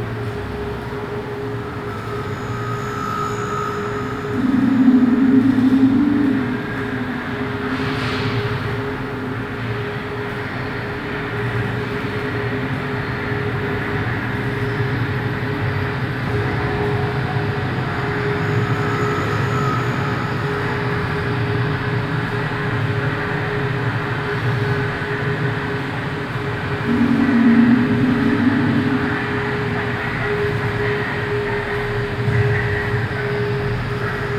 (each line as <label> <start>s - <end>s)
multi-channel composition 3.5s - 7.9s
multi-channel composition 26.2s - 34.3s